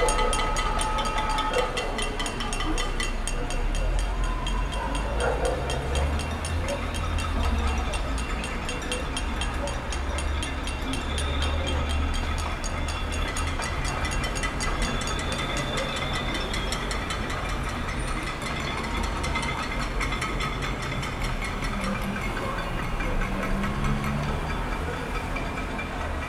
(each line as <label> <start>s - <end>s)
Pot-banging protests 0.0s - 26.2s